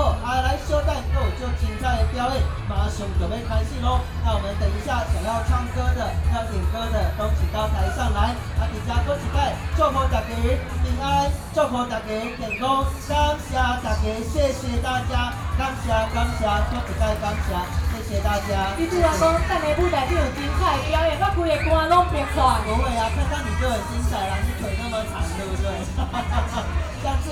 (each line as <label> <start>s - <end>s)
Community party 0.0s - 27.3s